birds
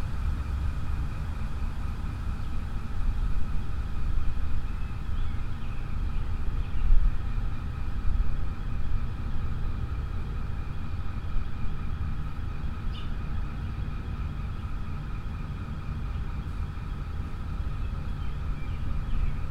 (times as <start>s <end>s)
4.5s 19.5s